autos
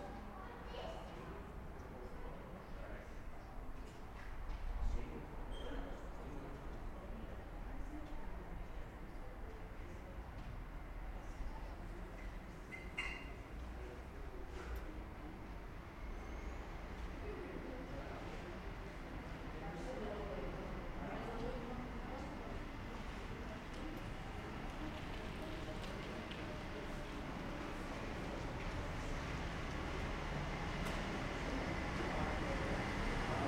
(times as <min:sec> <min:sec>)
0:23.0 0:33.4